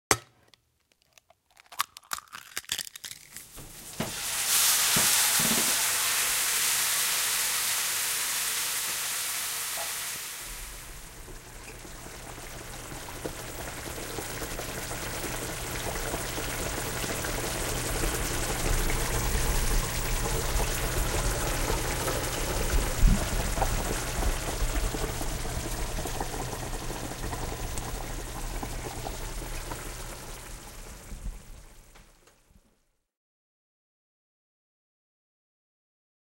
Egg is cracked 0:00.1 - 0:03.6
sizzling sound 0:00.3 - 0:32.0

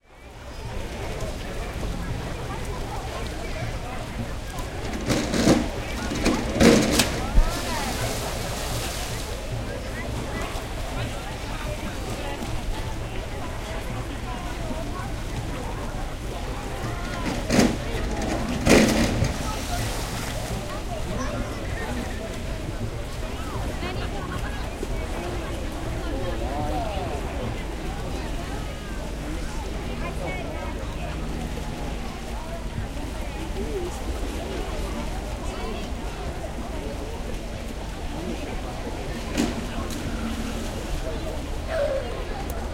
water 0:00.0 - 0:42.7
swimming 0:00.2 - 0:42.7
human 0:38.2 - 0:42.7

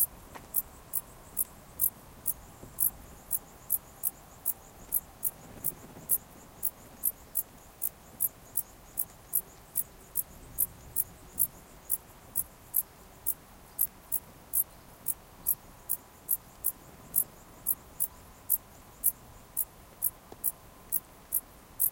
crickets 0:00.0 - 0:21.9

